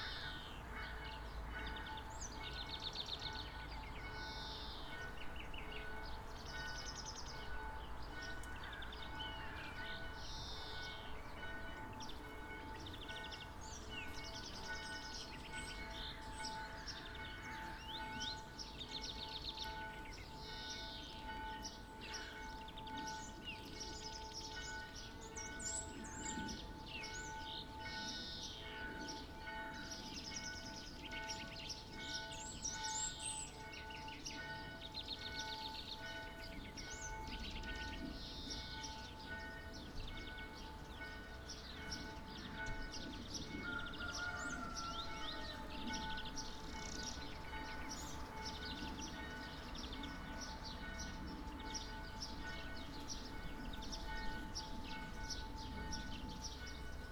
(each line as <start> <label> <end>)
0.0 church bell 57.1